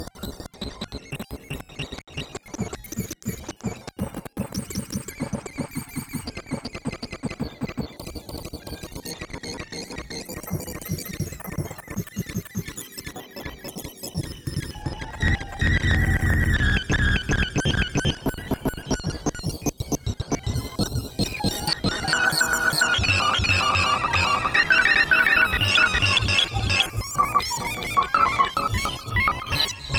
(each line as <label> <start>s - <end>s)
Glitch 20.6s - 29.9s